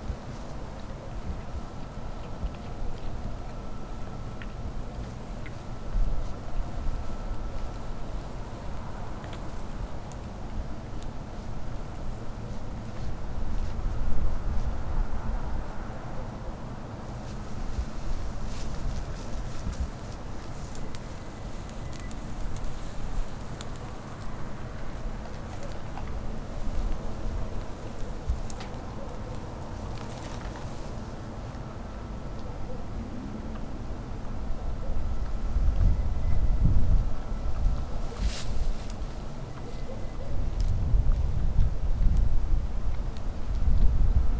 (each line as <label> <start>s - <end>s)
treading dry bushes 17.1s - 31.5s
treading dry bushes 35.2s - 42.2s